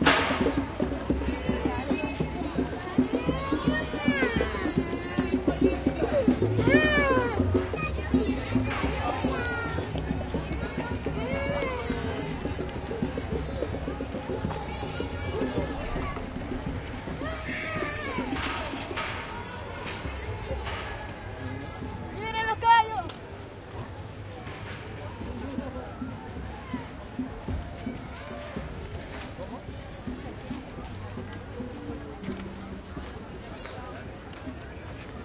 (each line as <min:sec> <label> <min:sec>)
0:00.0 crowd 0:35.2